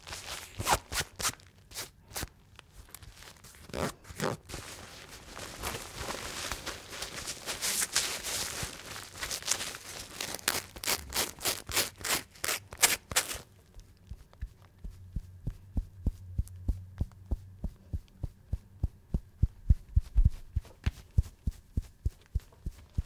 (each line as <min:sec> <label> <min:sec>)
0:00.0 tear apart the clothes 0:02.4
0:05.5 tear apart the clothes 0:13.6